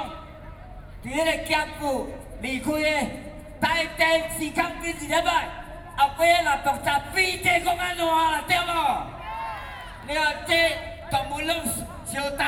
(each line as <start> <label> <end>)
0.0 anti-nuclear protesters 12.4